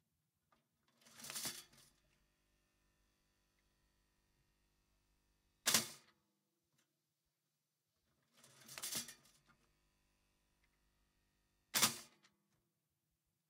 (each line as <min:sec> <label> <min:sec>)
0:01.0 toaster 0:01.9
0:05.6 toaster 0:06.1
0:08.4 toaster 0:09.4
0:11.7 toaster 0:12.2